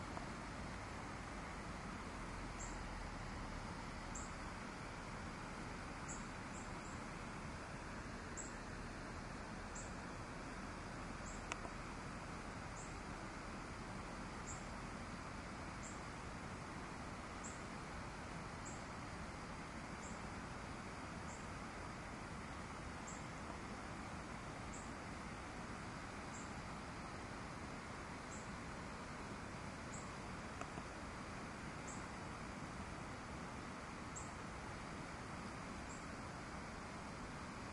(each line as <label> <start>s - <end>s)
river 0.0s - 37.7s
waterfall 0.0s - 37.7s
birds 2.0s - 3.0s
birds 3.6s - 8.8s
birds 9.6s - 11.9s
birds 12.5s - 14.8s
birds 15.7s - 16.1s
birds 17.2s - 17.8s
birds 18.4s - 19.0s
birds 19.8s - 21.6s
birds 22.4s - 27.2s
birds 28.1s - 31.2s
birds 31.8s - 32.2s
birds 34.0s - 36.3s